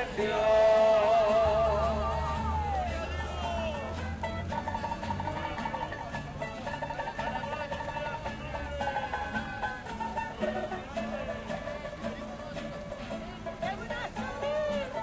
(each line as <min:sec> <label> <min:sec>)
0:00.0 Gospel singers 0:04.0